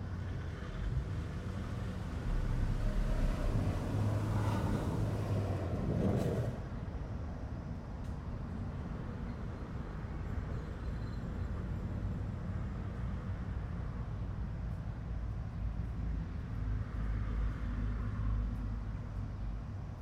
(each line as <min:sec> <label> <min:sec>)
0:00.0 planes 0:06.9
0:00.0 traffic 0:20.0